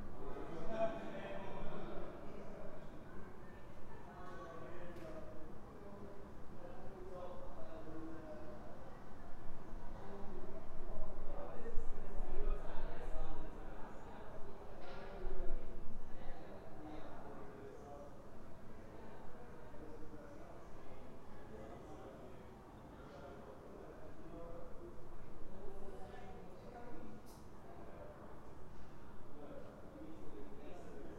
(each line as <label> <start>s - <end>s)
People talking 0.0s - 9.0s